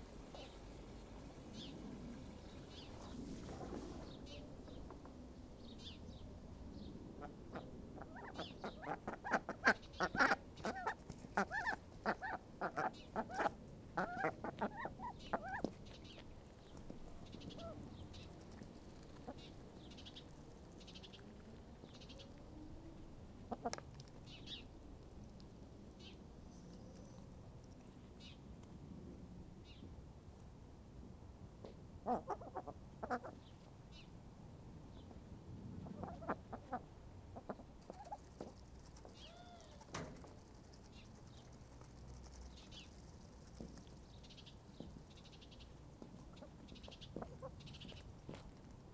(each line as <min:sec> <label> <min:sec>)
0:07.2 little chuntering duck banter 0:22.3
0:32.0 little chuntering duck banter 0:33.5
0:35.8 little chuntering duck banter 0:48.7